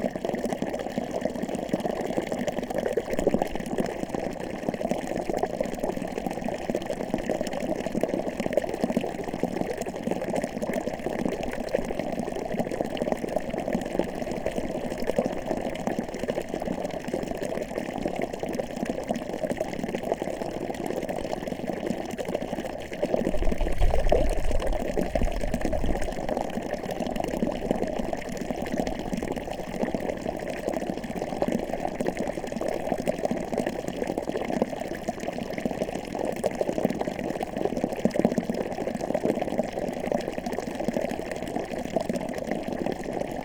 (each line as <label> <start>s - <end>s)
water spring 22.8s - 28.0s